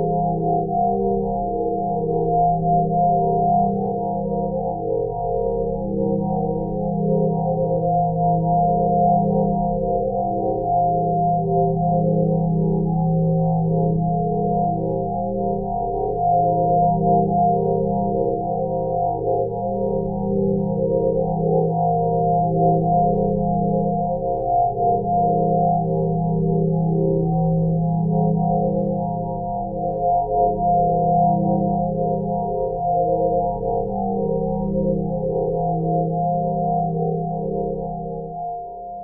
0.0s pure ambient sine wave 39.0s

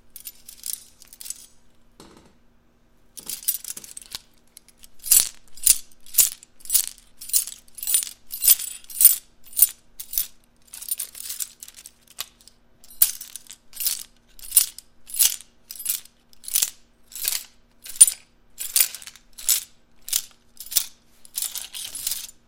3.2s metal rattle many items 22.4s

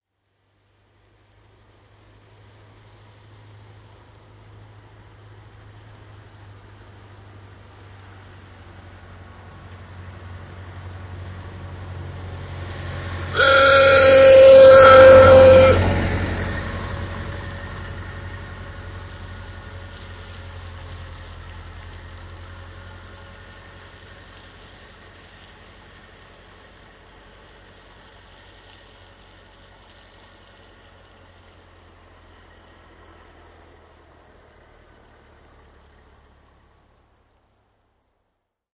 0.6s old car passing by 38.2s
13.3s horn honking 16.3s

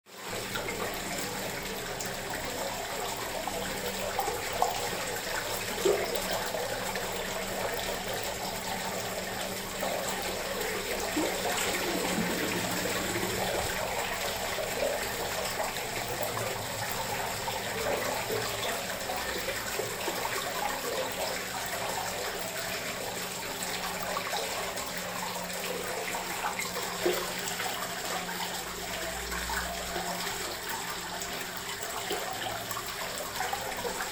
0.1s fountain water 34.1s

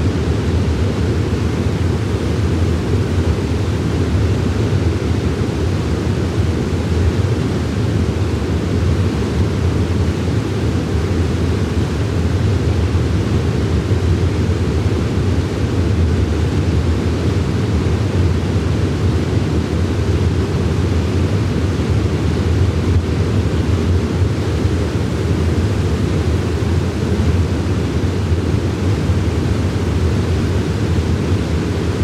0.0s stream 32.0s
0.0s waterfall 32.0s

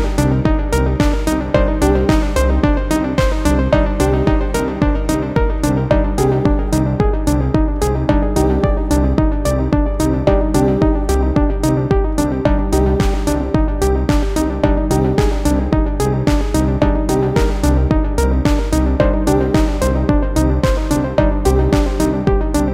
0.0s bass 22.7s
0.0s beat 22.7s
0.0s synth 22.7s

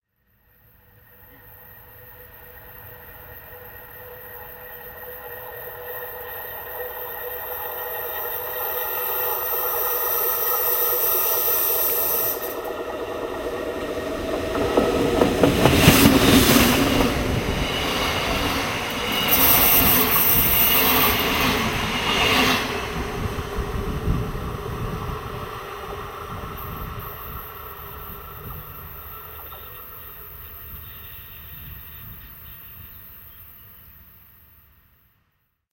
0.1s train passes from left to right 35.4s

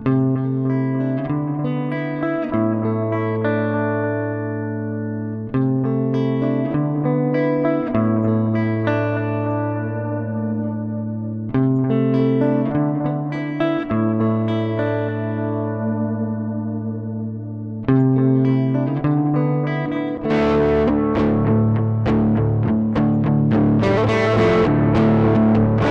0.0s Echo Guitar 25.9s

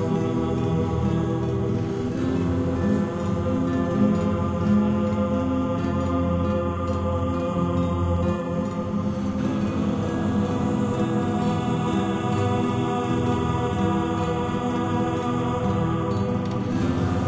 0.0s choir 17.2s
0.0s guitar 17.2s

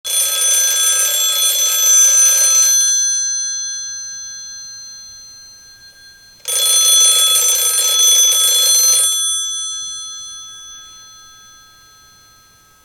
0.1s Old fashioned phone ringing 12.8s

